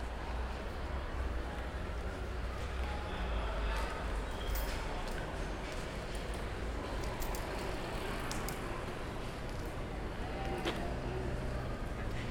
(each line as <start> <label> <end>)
0.0 people in the street 12.3